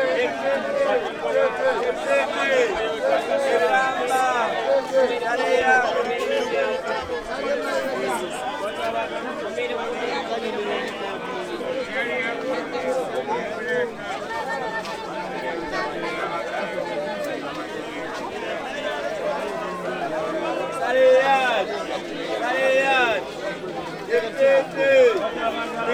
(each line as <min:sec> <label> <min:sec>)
0:00.0 people selling used clothes 0:25.9